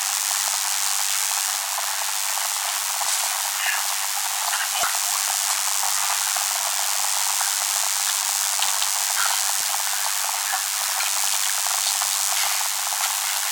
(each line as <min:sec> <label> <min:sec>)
0:04.3 broken guitar device connected to an audio circuit 0:13.5